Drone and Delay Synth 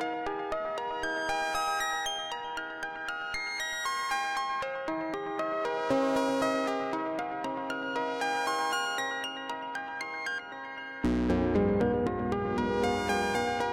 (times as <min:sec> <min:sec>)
0:11.0 0:13.7